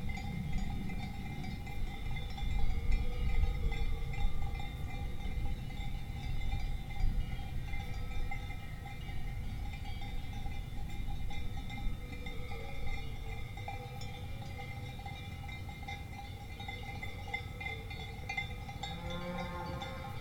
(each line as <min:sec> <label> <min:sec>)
0:00.0 Swiss Cowbells 0:20.2
0:18.8 mooings 0:20.2